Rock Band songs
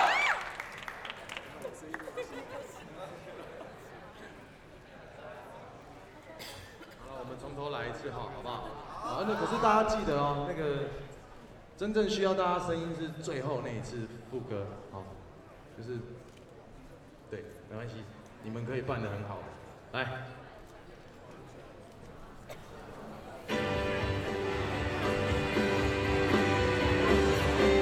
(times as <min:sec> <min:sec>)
0:23.5 0:27.8